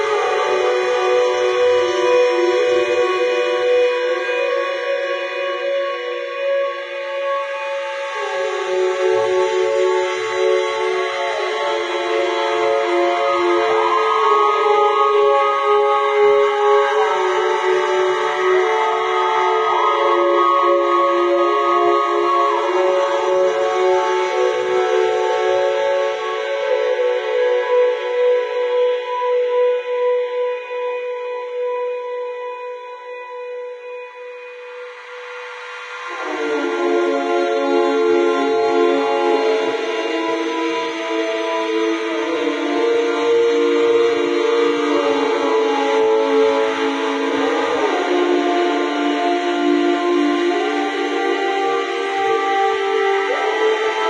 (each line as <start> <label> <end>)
34.9 unidentifiable instruments performing an odd tune 54.0